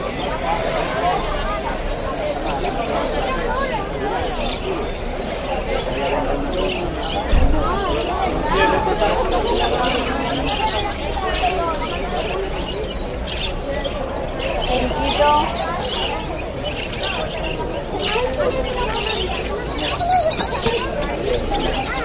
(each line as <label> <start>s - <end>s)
street noise 0.0s - 22.0s